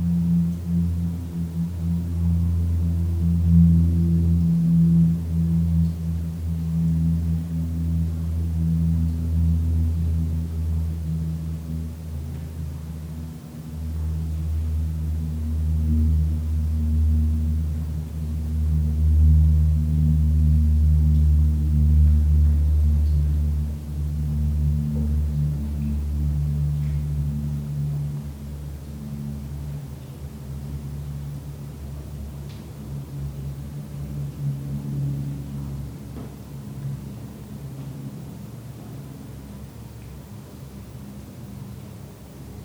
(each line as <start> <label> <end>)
0.0 Resonances affected by the wind 42.6